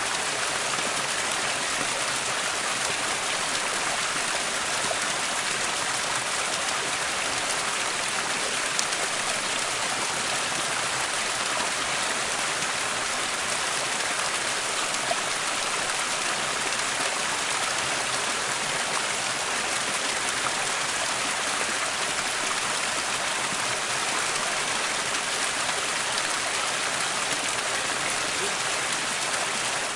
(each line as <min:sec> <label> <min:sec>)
0:00.0 Water Stream 0:29.9